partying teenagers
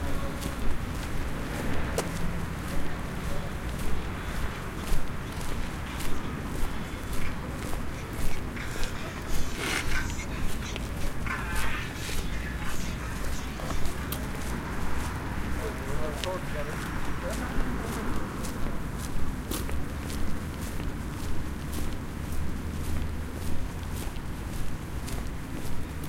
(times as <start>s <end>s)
1.2s 18.6s